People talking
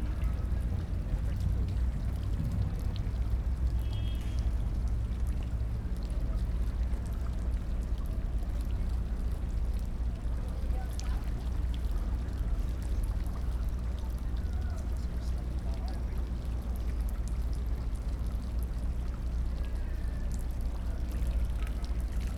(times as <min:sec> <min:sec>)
0:10.3 0:11.6, 0:12.2 0:16.9